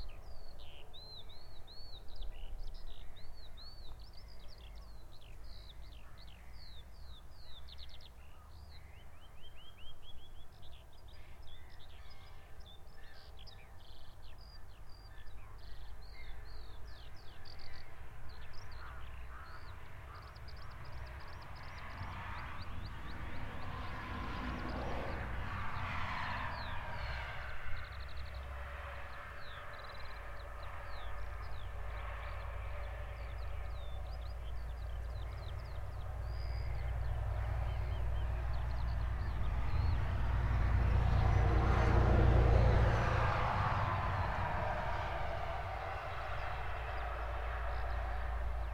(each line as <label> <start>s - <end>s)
birds 0.0s - 48.7s
highway 0.0s - 48.7s
trucks 18.8s - 48.7s